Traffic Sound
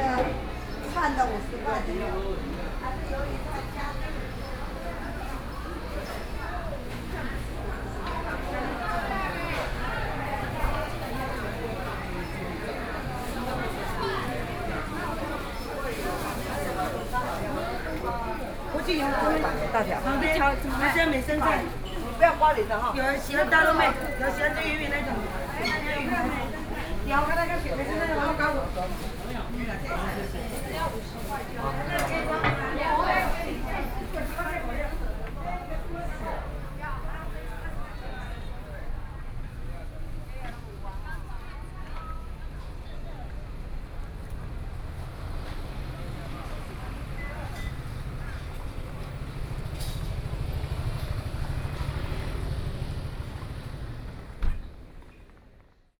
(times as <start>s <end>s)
44.0s 54.9s